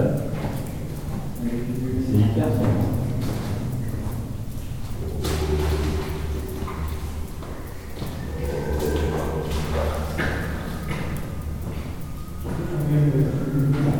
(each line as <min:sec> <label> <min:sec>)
0:00.0 Friends are walking more and more far 0:13.9